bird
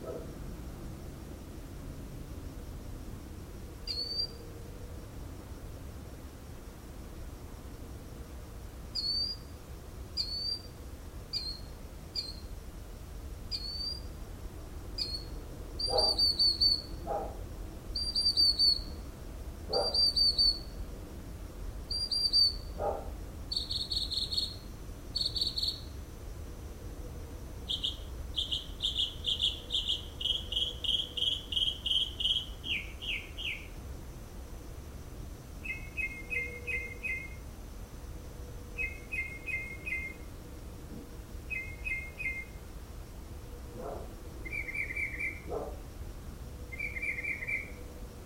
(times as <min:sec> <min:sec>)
0:03.9 0:04.5, 0:09.0 0:09.5, 0:10.2 0:12.5, 0:13.5 0:14.1, 0:15.0 0:17.3, 0:18.0 0:19.0, 0:19.7 0:20.8, 0:21.9 0:24.6, 0:25.2 0:25.9, 0:27.7 0:33.7, 0:35.6 0:37.4, 0:38.8 0:40.2, 0:41.5 0:42.6, 0:43.8 0:45.6, 0:46.7 0:47.8